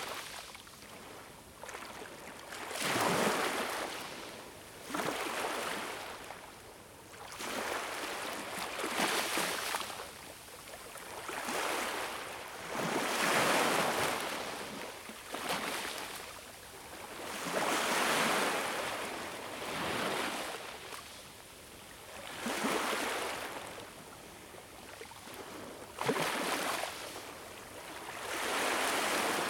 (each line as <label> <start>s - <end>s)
sea 0.0s - 29.4s